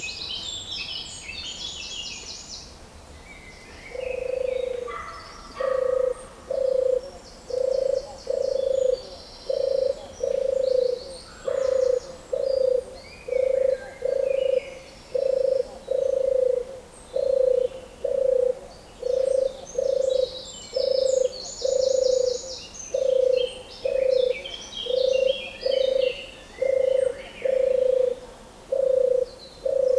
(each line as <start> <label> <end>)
16.9 Birdsong 28.0